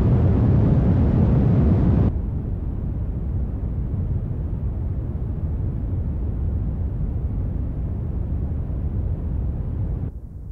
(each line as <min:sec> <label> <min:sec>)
0:00.0 noiseRumble-hardSH-Filter 0:10.5